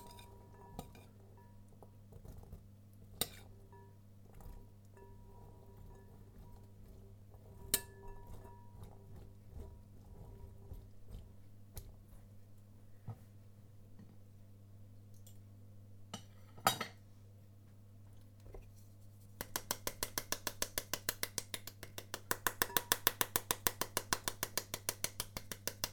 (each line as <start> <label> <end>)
19.4 spanking a pomegranate to make the seeds fall out 25.9